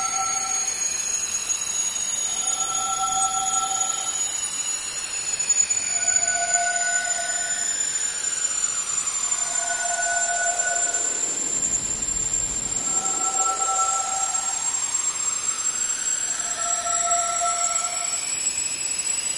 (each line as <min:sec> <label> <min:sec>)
0:09.2 loud spaceship engine, increasing pitch 0:18.3